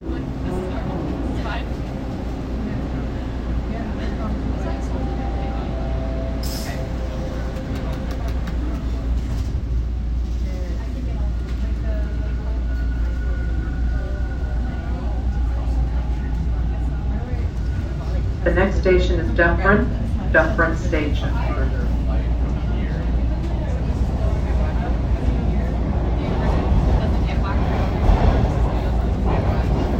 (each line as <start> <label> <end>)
0.0 Subway train ride 29.9
0.0 voices 29.9
0.0 next station announcements 29.9